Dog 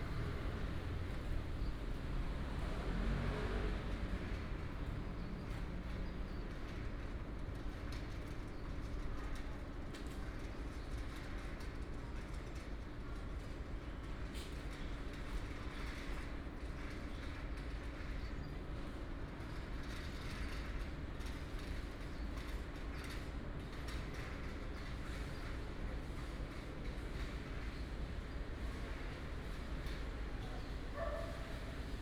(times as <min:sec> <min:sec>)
0:30.9 0:31.7